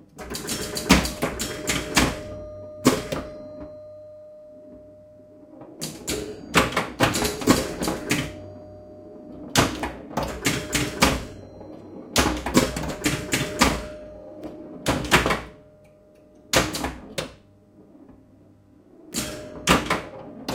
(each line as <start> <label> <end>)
0.0 Pinball machine 20.5